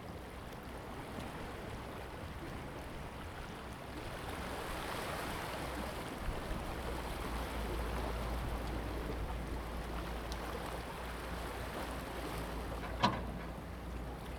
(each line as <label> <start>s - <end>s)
Construction cranes 12.6s - 14.3s